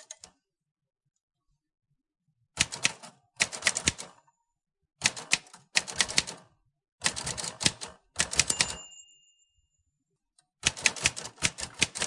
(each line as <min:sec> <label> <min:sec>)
0:02.6 Typing at different speeds 0:04.2
0:05.0 Typing at different speeds 0:08.9
0:10.6 Typing at different speeds 0:12.0